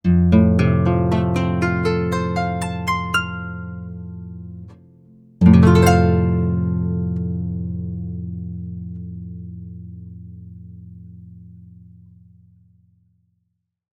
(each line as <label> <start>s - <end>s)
Arpeggio from a paraguayan harp 0.0s - 10.0s